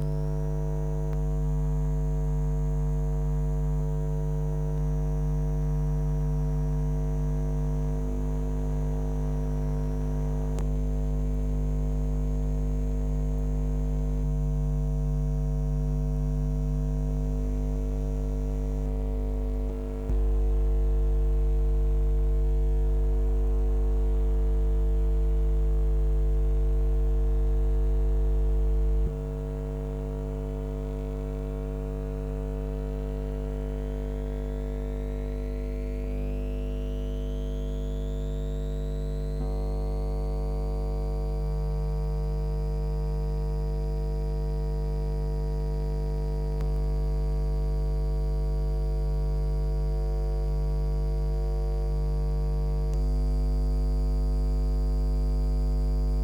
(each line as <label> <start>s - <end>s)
electric field with coil pick-ups 26.4s - 56.2s
small electric substation 27.0s - 56.2s